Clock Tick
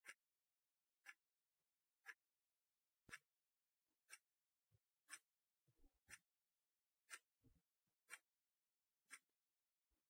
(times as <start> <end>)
0.0 0.3, 1.0 1.3, 2.0 2.4, 3.0 3.4, 4.0 4.3, 5.0 5.3, 6.0 6.3, 7.0 7.3, 8.0 8.4, 9.0 9.3